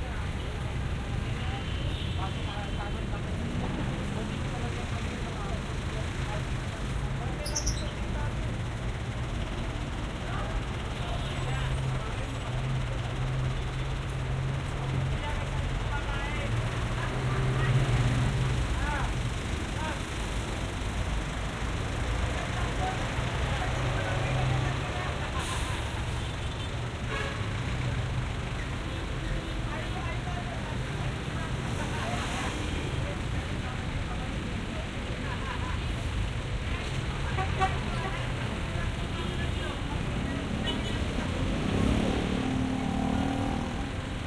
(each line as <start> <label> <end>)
0.0 people talking 8.8
0.0 buses 44.2
0.0 cars 44.2
0.0 jeepneys 44.2
0.0 motorcycles 44.2
0.0 trucks 44.2
9.4 people talking 13.8
14.4 people talking 20.7
22.2 people talking 26.3
27.8 people talking 44.2